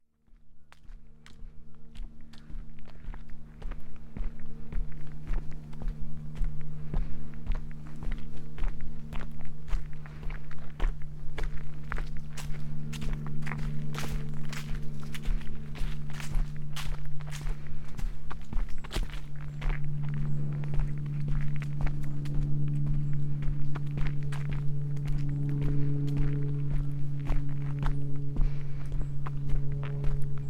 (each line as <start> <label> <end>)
0.1 walk 30.4